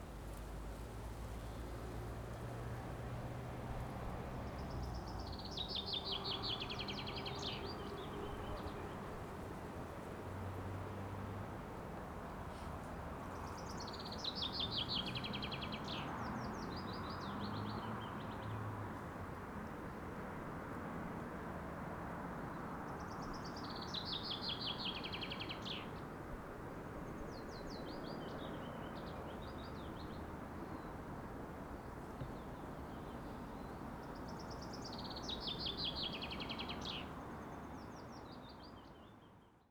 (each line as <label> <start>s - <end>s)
birds singing by the river bank 4.4s - 9.1s
birds singing by the river bank 13.1s - 18.6s
birds singing by the river bank 22.6s - 26.2s
birds singing by the river bank 26.9s - 39.7s